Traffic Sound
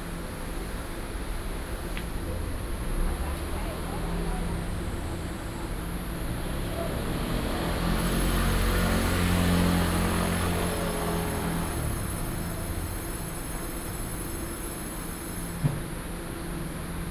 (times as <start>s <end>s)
6.2s 14.2s